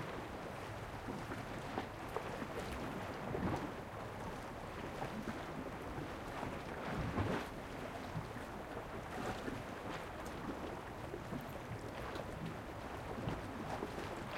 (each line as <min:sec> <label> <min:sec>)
0:13.6 Seawaves On Rocks 0:14.3